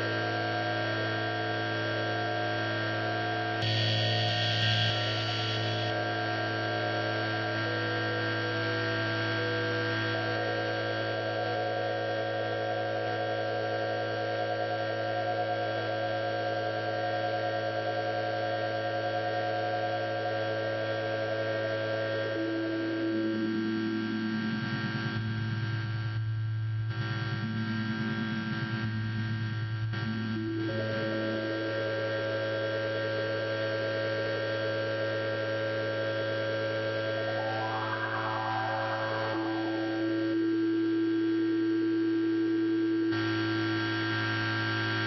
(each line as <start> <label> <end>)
3.6 feedback 5.9
36.6 feedback 41.7